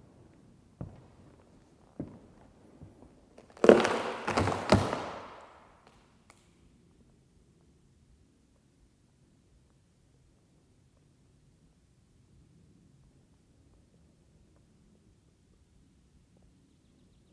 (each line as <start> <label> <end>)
0.0 Stepping on rotten floor boards 5.7